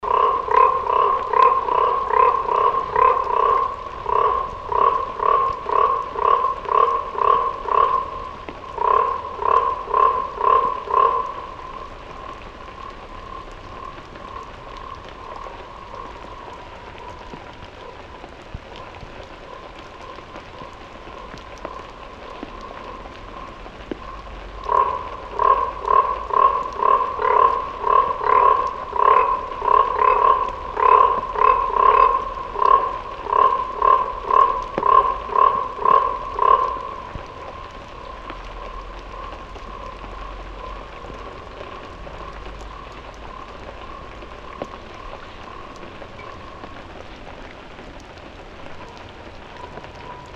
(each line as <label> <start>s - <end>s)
frog 0.0s - 50.3s
rain 0.0s - 50.3s